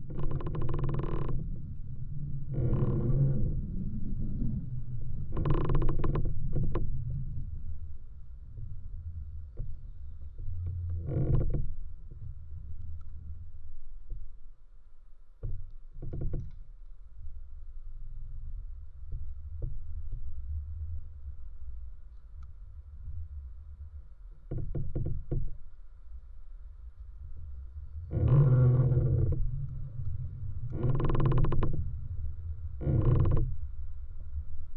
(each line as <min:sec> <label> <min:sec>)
0:00.0 creaking tree 0:07.8
0:08.4 creaking tree 0:13.5
0:15.4 creaking tree 0:17.4
0:22.2 creaking tree 0:25.8
0:27.2 creaking tree 0:33.9